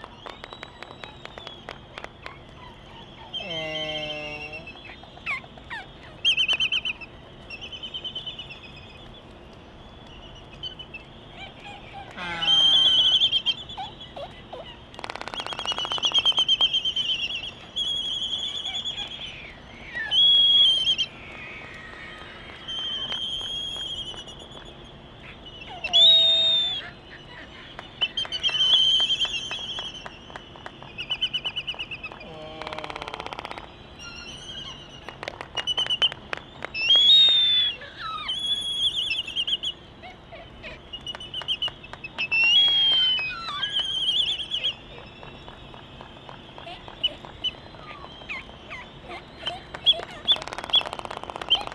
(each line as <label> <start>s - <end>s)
Laysan albatross dancing 0.0s - 51.7s
bill clapperings 44.9s - 51.7s